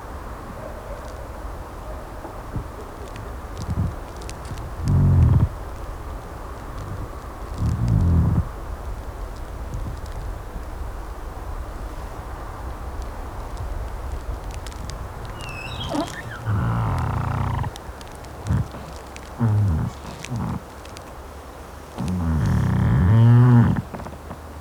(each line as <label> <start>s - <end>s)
pine-tree speaks and moans in a small wind 2.5s - 8.6s
pine-tree speaks and moans in a small wind 14.4s - 21.1s
pine-tree speaks and moans in a small wind 21.9s - 24.6s